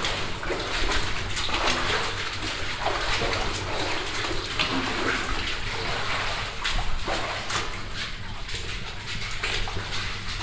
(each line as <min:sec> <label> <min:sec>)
0:00.0 stepping through ankle high water 0:10.4